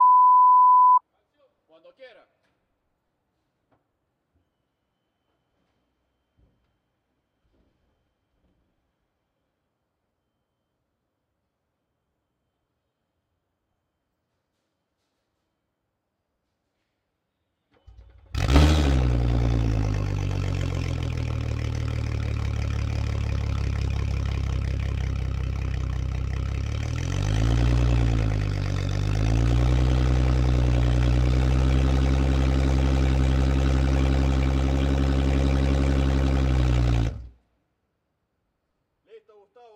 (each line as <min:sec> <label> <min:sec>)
0:17.9 outboard motor 0:37.4